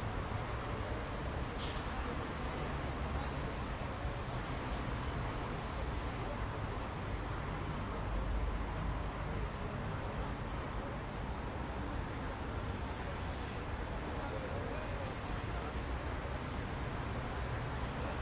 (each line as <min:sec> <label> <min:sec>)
0:00.0 traffic 0:18.2